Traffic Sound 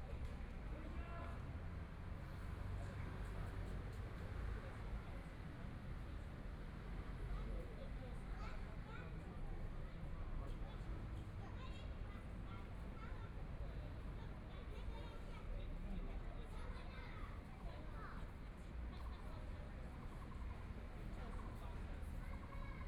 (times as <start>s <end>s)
16.5s 22.8s